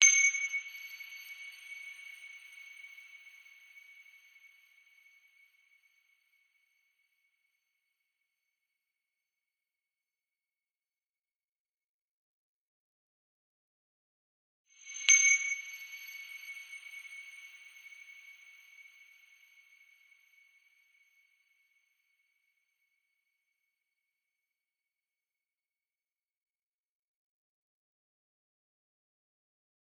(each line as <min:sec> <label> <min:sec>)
0:00.0 Sparkling bright ding sound 0:03.1
0:14.9 Sparkling bright ding sound 0:19.4